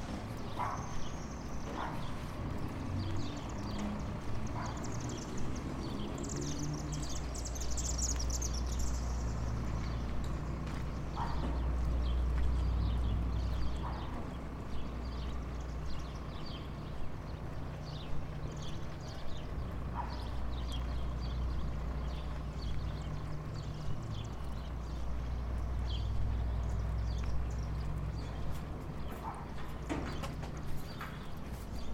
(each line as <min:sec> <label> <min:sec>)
0:00.5 Two Dogs 0:02.3
0:10.7 Two Dogs 0:14.5
0:19.9 Two Dogs 0:21.0
0:26.6 Two Dogs 0:31.9